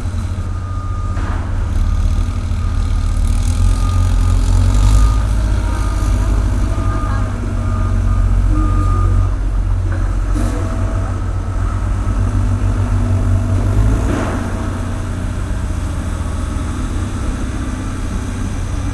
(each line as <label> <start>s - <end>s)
softer construction sounds 0.0s - 18.9s